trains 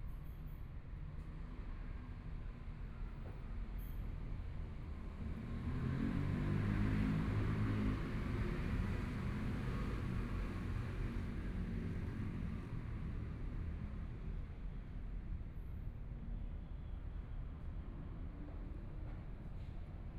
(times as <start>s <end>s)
12.2s 20.1s